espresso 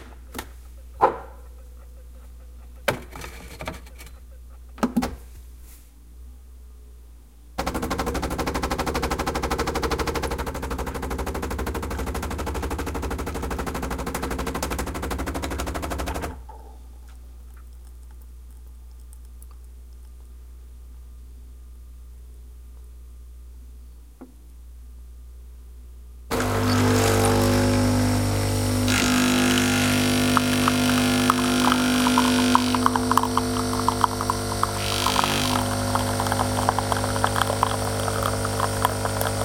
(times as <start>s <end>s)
26.3s 39.4s